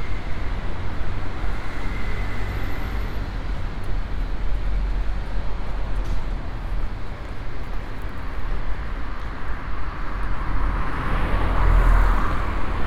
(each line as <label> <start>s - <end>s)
metro line 0.0s - 7.1s